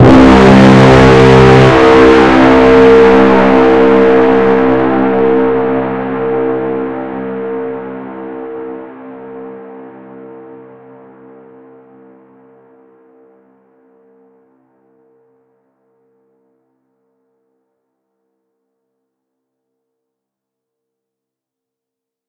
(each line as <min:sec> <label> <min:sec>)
0:00.0 inception/movie trailer horn 0:08.9